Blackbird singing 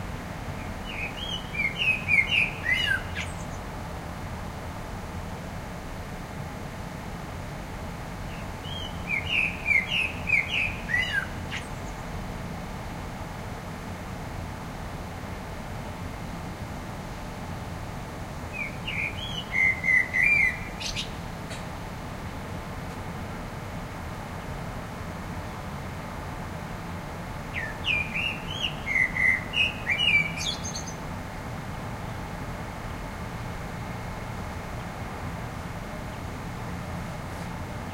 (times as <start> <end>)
0.6 3.6, 8.3 12.0, 18.5 21.2, 27.5 31.0